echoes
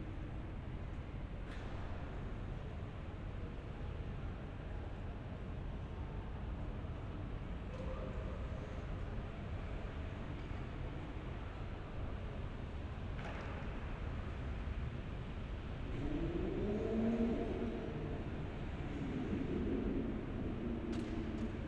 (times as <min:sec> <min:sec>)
0:15.8 0:21.6